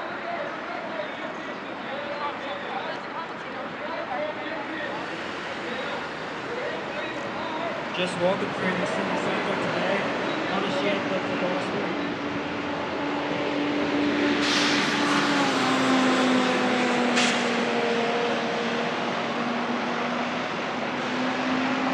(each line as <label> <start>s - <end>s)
gospel preachers in the distance 0.0s - 14.3s
pedestrians 0.0s - 21.9s
vehicles 0.0s - 21.9s